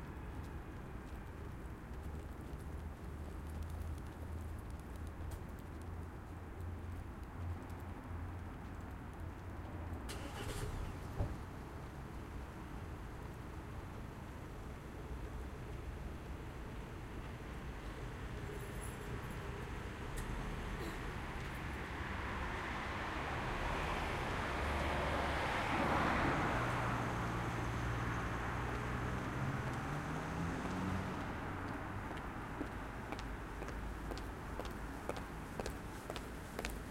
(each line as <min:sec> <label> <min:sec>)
0:00.0 cars 0:36.9
0:00.0 people walking 0:09.8
0:26.7 motorbikes 0:33.9
0:28.5 people walking 0:36.9